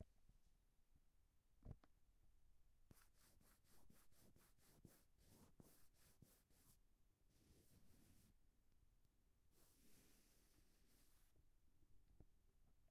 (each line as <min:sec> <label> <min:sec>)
0:02.9 eraser is wiping the pencil line on the paper 0:08.3
0:09.5 eraser is wiping the pencil line on the paper 0:11.3